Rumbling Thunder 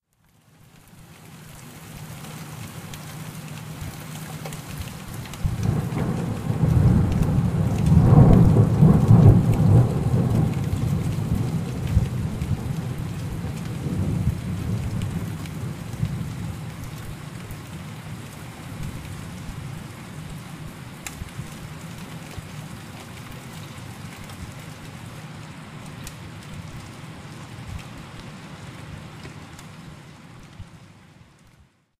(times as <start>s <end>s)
5.4s 17.2s